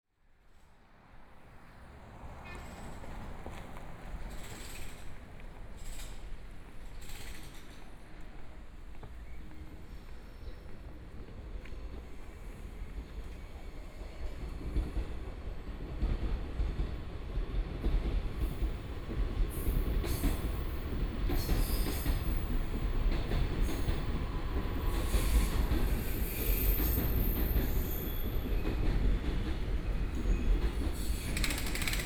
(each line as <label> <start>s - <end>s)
Train traveling through 0.5s - 32.0s